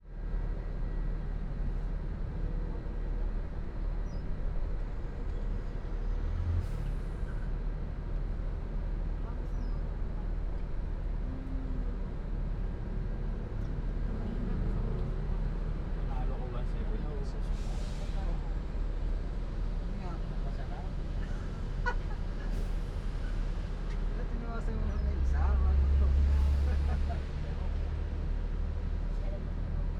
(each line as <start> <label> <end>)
0.0 engine 29.9
0.0 traffic jam 29.9
11.2 people talking 12.2
16.0 people talking 18.8
24.1 people talking 28.1